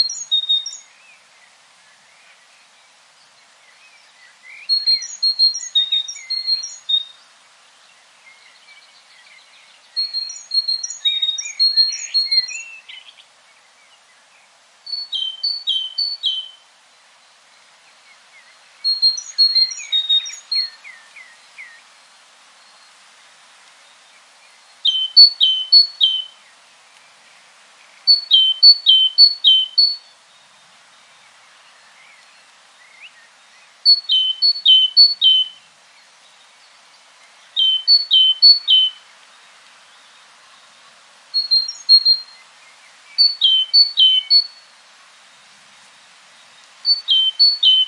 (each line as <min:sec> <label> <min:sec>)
0:00.0 Great Tit twittering its song 0:00.9
0:04.6 Great Tit twittering its song 0:07.1
0:10.0 Great Tit twittering its song 0:13.0
0:18.9 Great Tit twittering its song 0:20.8
0:24.8 Great Tit twittering its song 0:26.3
0:28.1 Great Tit twittering its song 0:30.1
0:33.9 Great Tit twittering its song 0:35.5
0:37.6 Great Tit twittering its song 0:39.0
0:41.4 Great Tit twittering its song 0:42.4
0:43.2 Great Tit twittering its song 0:44.6
0:46.9 Great Tit twittering its song 0:47.8